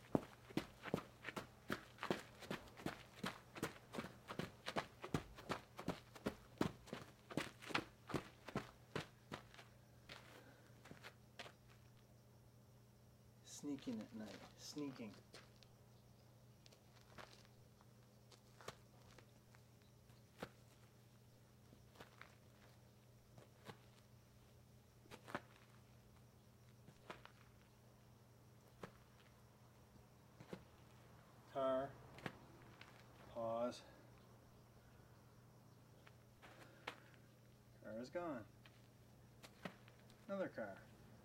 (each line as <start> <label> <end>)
0.0 Boots Running 11.6
0.0 Hard Sole Boots walking on Hard Packed dirt 12.0
16.6 Hard Sole Boots walking on Hard Packed dirt 21.0
21.8 Hard Sole Boots walking on Hard Packed dirt 24.1
25.1 Hard Sole Boots walking on Hard Packed dirt 27.6
32.1 Hard Sole Boots walking on Hard Packed dirt 33.4
38.5 Hard Sole Boots walking on Hard Packed dirt 40.6